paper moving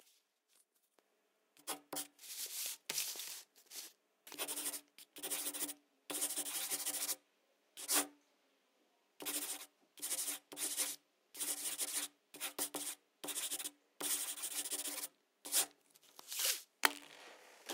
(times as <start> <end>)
16.0 17.7